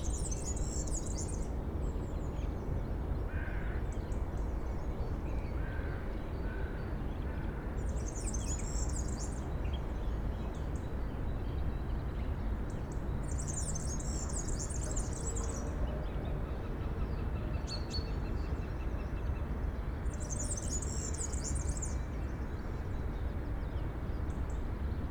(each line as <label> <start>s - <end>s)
tits and sparrows in a bush 0.0s - 2.6s
tits and sparrows in a bush 7.9s - 15.7s
tits and sparrows in a bush 20.1s - 24.3s